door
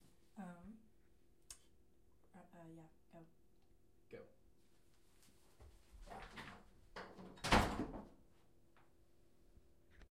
6.3 8.1

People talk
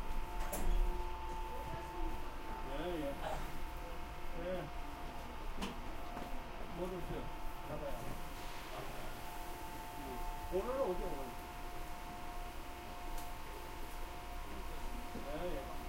1.5 4.7, 6.8 8.1, 10.0 11.4, 14.6 15.8

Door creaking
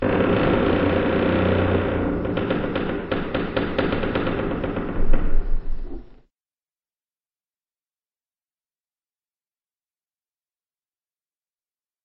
0.0 6.3

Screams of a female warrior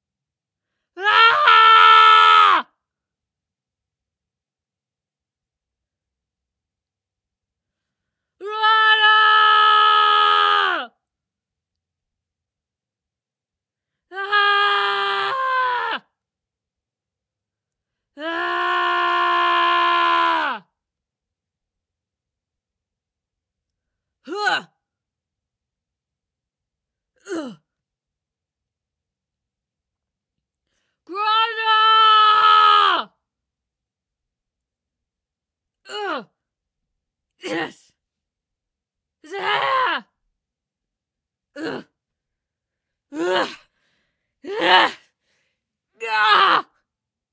1.0 2.7, 8.4 11.0, 14.1 16.2, 18.2 20.7, 24.3 24.7, 31.1 33.2, 39.2 40.2, 41.6 41.9, 43.1 43.7, 44.4 45.0, 46.0 46.8

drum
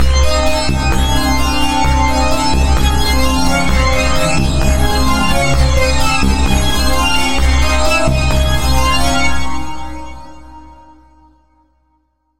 0.0 9.7

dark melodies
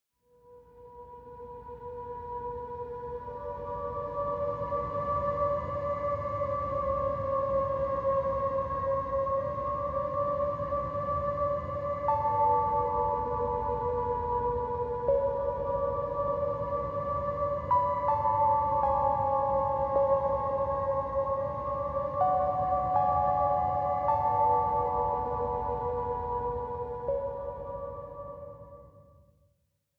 10.1 28.9

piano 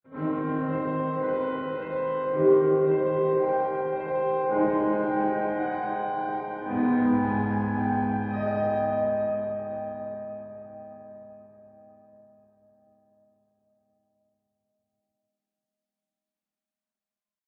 0.0 13.3

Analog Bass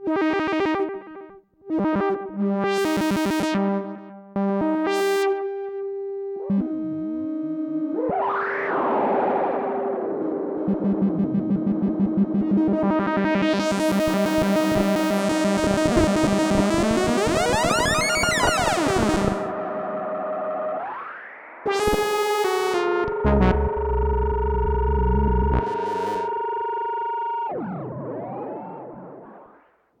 10.6 13.2, 14.0 21.0, 21.7 29.6

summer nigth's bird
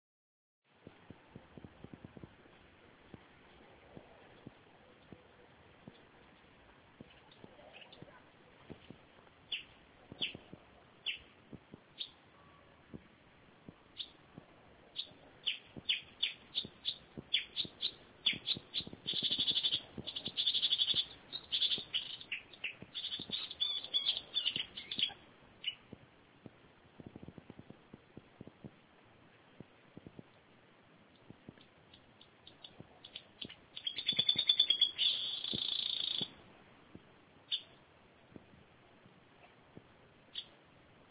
14.9 25.9, 31.2 36.4

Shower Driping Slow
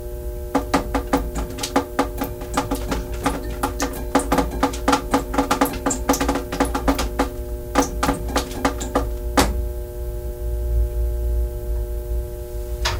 0.6 9.6

